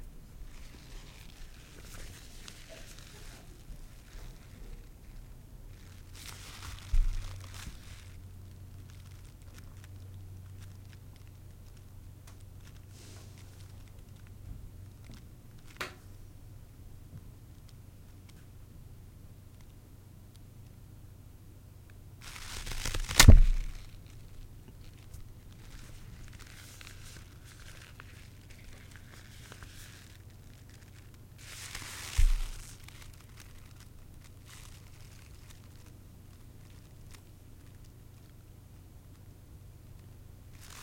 Snapping Rubber Gloves 22.2 - 36.0

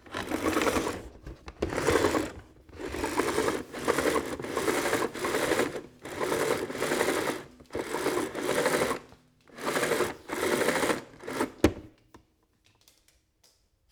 Pulling power cable 0.0 - 11.9

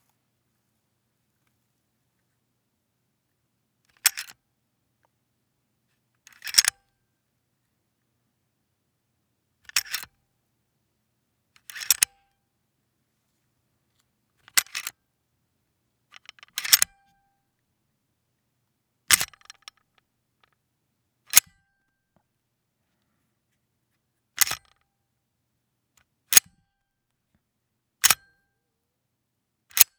Racking and releasing a Glock 17's slide 3.9 - 4.4
Racking and releasing a Glock 17's slide 6.3 - 6.8
Racking and releasing a Glock 17's slide 9.7 - 10.1
Racking and releasing a Glock 17's slide 11.7 - 12.2
Racking and releasing a Glock 17's slide 14.5 - 14.9
Racking and releasing a Glock 17's slide 16.2 - 17.0
Racking and releasing a Glock 17's slide 19.1 - 19.8
Racking and releasing a Glock 17's slide 24.4 - 24.7

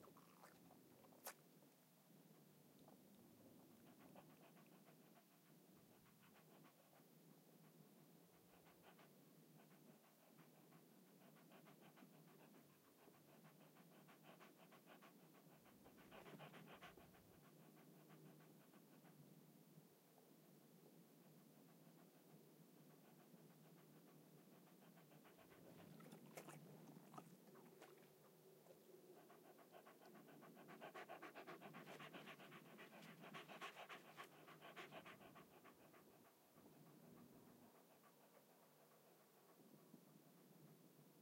Small Dog Panting 2.8 - 19.8
Small Dog Panting 20.4 - 41.2

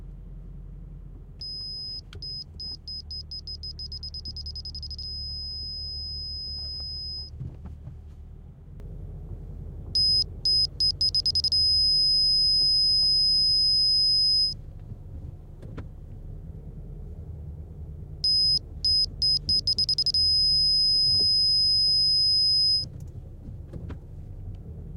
parking-sensors 1.3 - 7.3
parking-sensors 10.0 - 14.6
parking-sensors 18.2 - 23.0

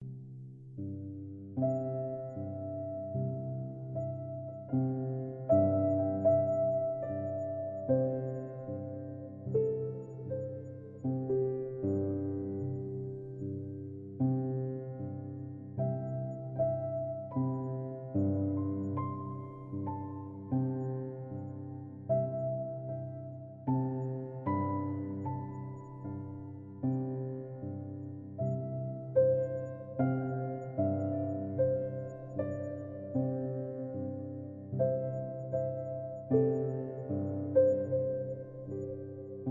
piano 0.0 - 39.5

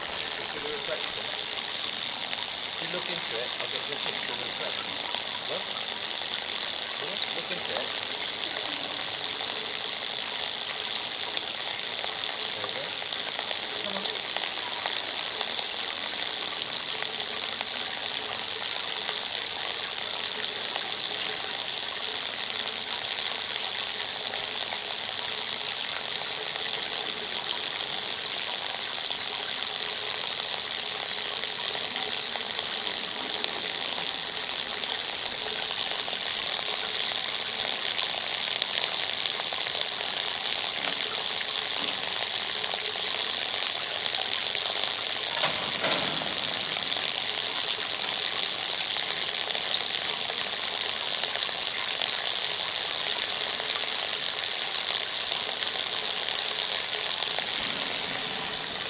font spilling water onto a wire mesh 38.9 - 50.8

